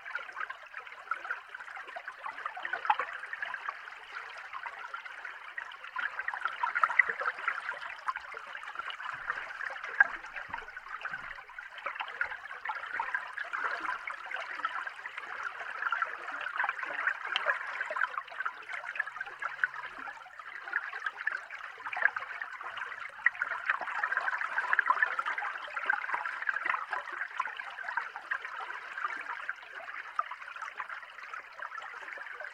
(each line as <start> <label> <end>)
6.8 bubble 13.8